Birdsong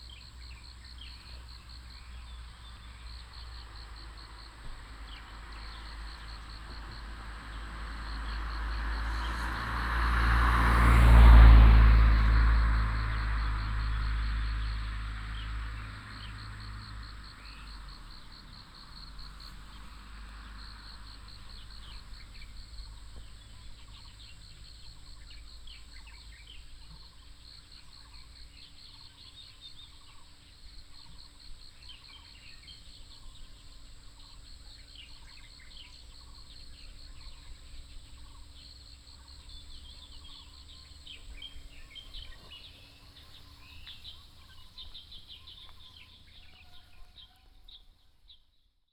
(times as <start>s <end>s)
13.4s 48.5s